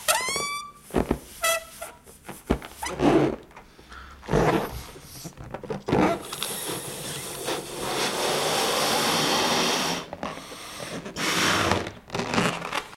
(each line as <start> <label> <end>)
0.0 balloon 3.4
4.2 balloon 12.9